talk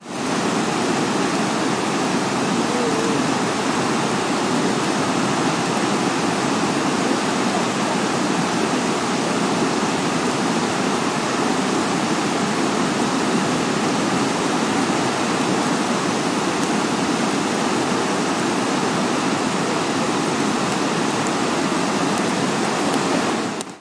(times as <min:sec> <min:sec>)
0:02.6 0:03.4